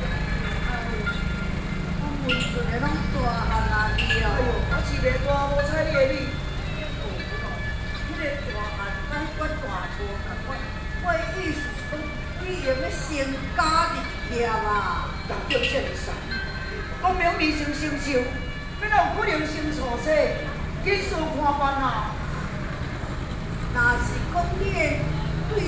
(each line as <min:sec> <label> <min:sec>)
0:00.0 Traditional theatrical performances 0:24.0